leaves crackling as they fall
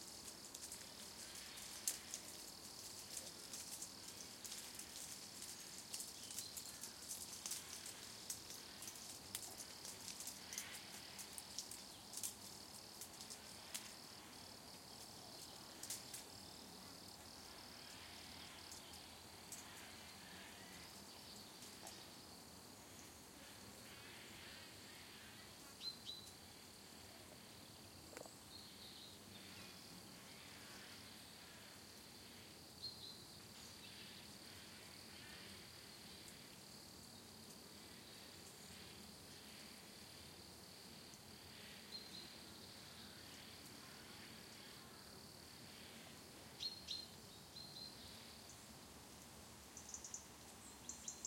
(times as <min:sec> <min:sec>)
0:00.0 0:16.4